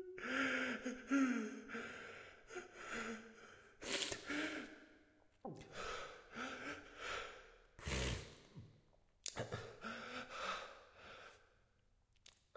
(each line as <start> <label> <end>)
9.8 Breathing 11.6